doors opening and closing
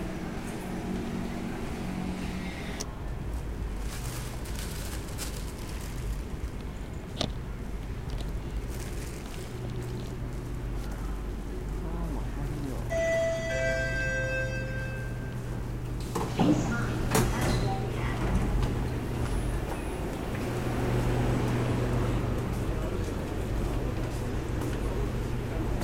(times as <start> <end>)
12.9 21.3